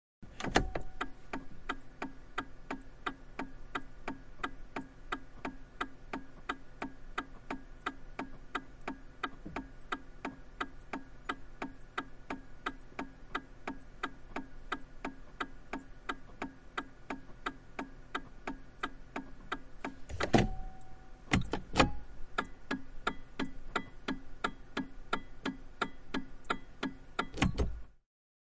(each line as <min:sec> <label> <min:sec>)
0:00.3 turn signal 0:28.0